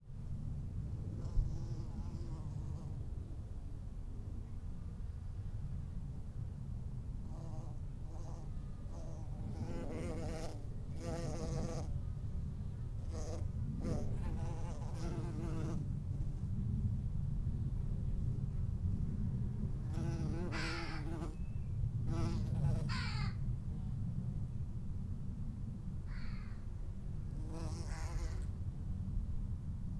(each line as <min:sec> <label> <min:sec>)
0:00.0 low rumble of a distant aeroplane 0:29.9
0:07.2 Bees on lavender 0:12.2
0:12.9 Bees on lavender 0:16.5
0:19.7 Bees on lavender 0:21.4
0:22.1 Bees on lavender 0:22.9
0:27.3 Bees on lavender 0:28.6